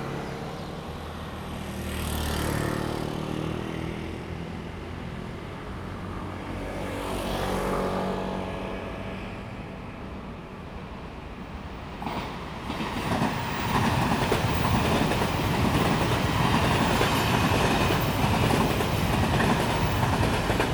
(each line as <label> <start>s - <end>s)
Traffic sound 0.0s - 20.7s
The train runs through 4.6s - 20.7s